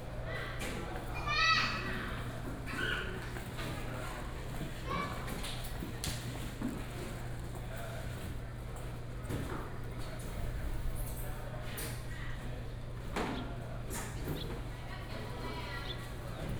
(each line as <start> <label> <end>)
13.2 Birds sound 16.2